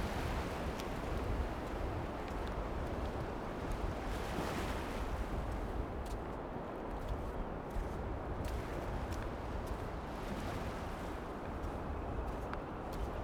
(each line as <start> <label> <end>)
0.0 SEA 13.2